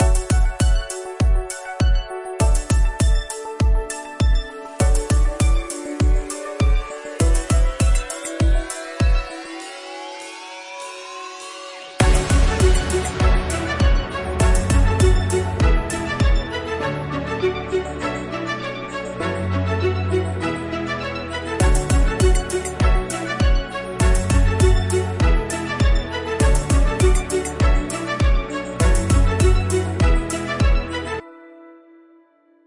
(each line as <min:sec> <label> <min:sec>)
0:00.0 drums 0:09.4
0:00.0 strings 0:31.3
0:12.0 drums 0:16.5
0:21.6 drums 0:30.8